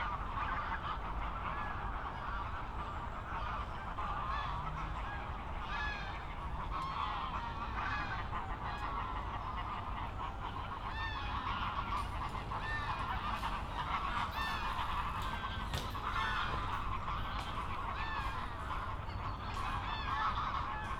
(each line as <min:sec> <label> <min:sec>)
0:00.0 aircraft 0:20.9
0:00.0 many geese gathering at the pond 0:20.9
0:06.3 traffic noise 0:20.9
0:06.4 trains 0:20.9